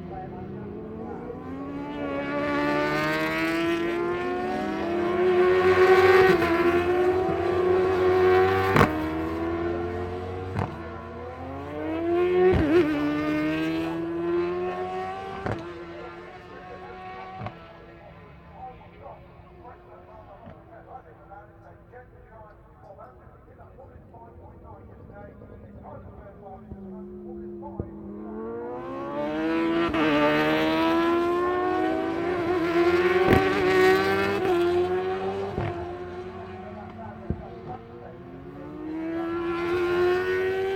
22.6s superbikes 40.7s

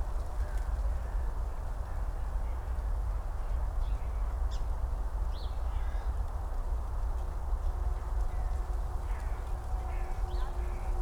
4.9s dry leaves in the wind 11.0s

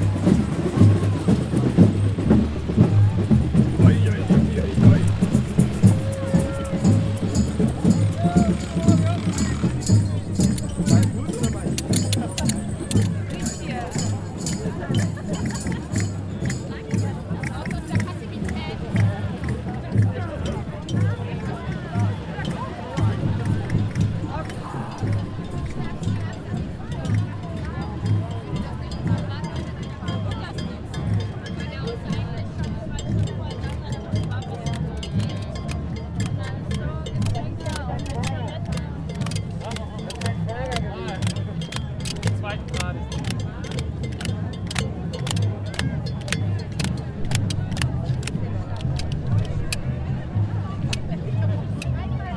0.0s Ghosts Parade 29.2s

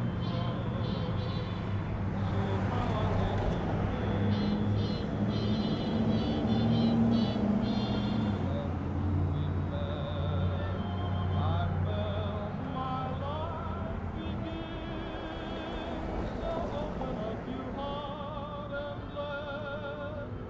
0.0s Vehicles cruising down Broadway St 20.4s

